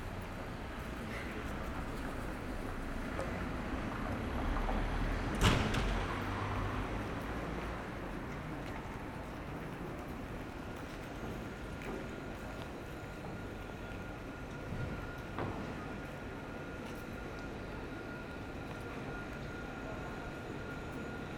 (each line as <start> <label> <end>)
0.0 tramway are passing by 21.3